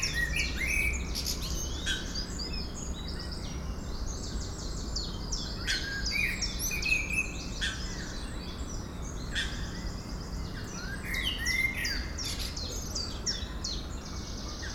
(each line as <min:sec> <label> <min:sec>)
0:00.0 blackbird singing 0:14.7